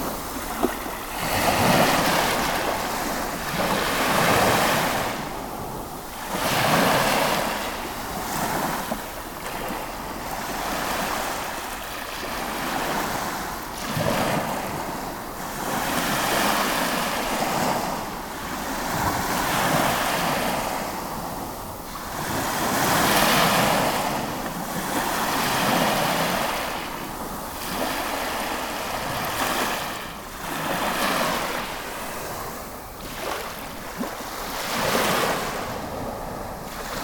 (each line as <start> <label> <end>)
0.0 constant waves on the stoney berach shore 37.0
0.0 mild wind breeze 37.0